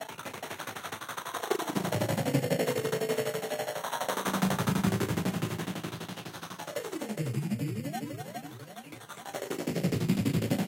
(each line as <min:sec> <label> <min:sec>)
0:01.7 old programmed synthesizers with heavy effects 0:08.8